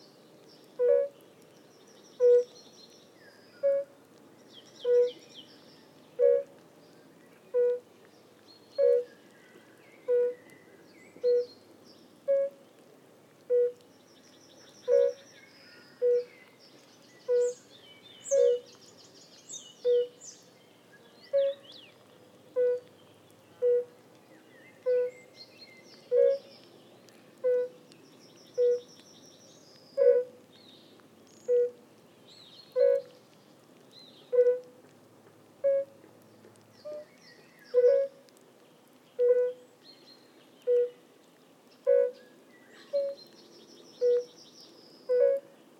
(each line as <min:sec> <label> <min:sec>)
0:11.2 fire-bellied toads(Bombina bombina) singing 0:11.5
0:14.7 fire-bellied toads(Bombina bombina) singing 0:16.4
0:17.2 fire-bellied toads(Bombina bombina) singing 0:18.8
0:19.5 fire-bellied toads(Bombina bombina) singing 0:20.3
0:21.3 fire-bellied toads(Bombina bombina) singing 0:21.9
0:23.6 fire-bellied toads(Bombina bombina) singing 0:24.0
0:28.5 fire-bellied toads(Bombina bombina) singing 0:29.1
0:31.3 fire-bellied toads(Bombina bombina) singing 0:31.8
0:44.0 fire-bellied toads(Bombina bombina) singing 0:44.4